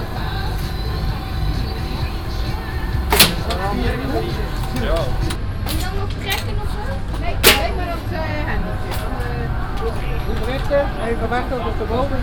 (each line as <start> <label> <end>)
0.0 agenerator 12.2
0.0 music 12.2
0.0 people talking and having fun 12.2
2.3 pneumatic shots 6.5
3.1 targets got shot 3.6
7.2 pneumatic shots 8.1
7.4 targets got shot 7.8